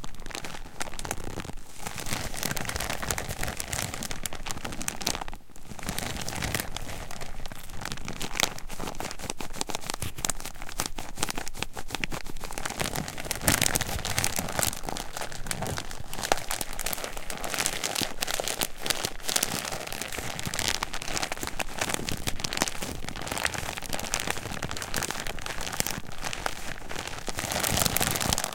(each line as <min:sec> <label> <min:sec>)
0:00.0 Plastic bag 0:28.5